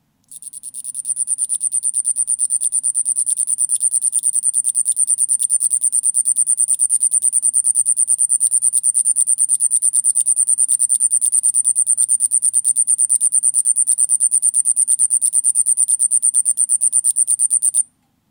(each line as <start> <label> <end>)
0.3 Night Cricket 17.9